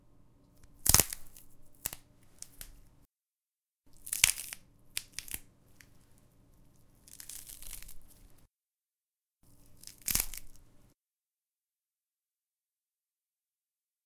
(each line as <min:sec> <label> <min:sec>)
0:00.6 celery snapping 0:02.8
0:04.0 celery snapping 0:05.9
0:07.1 celery snapping 0:08.2
0:09.8 celery snapping 0:10.6